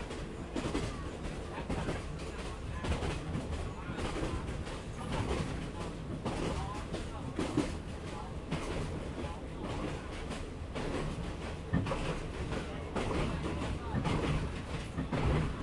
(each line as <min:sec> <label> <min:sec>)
0:00.0 Train 0:15.6
0:00.0 people 0:15.6
0:00.0 rails 0:15.6